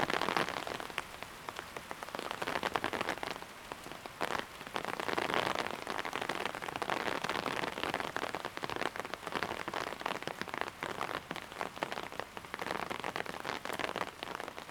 0.0s storm under umbrella 1.1s

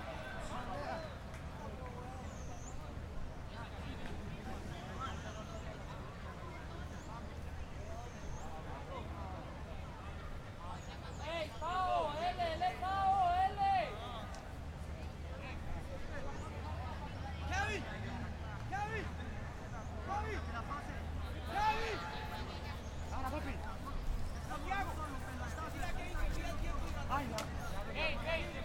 0.0s Conversación 28.6s
0.0s Partido de fútbol 28.6s

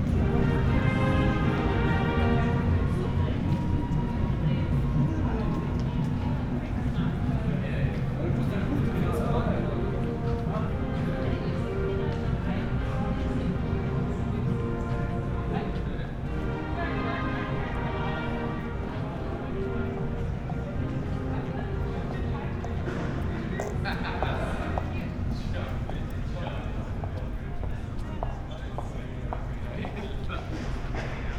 0.0s orchestra playing 7.5s
8.2s orchestra playing 25.6s

